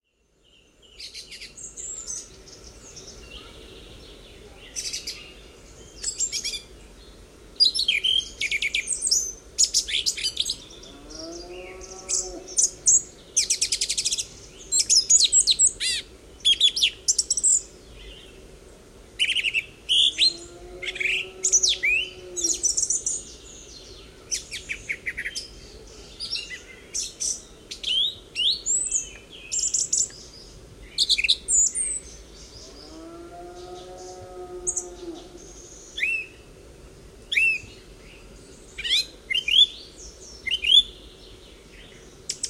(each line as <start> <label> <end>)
0.0 songs of songthrushes 42.4
10.8 moowing cows 12.6
20.1 moowing cows 22.7
32.8 moowing cows 35.4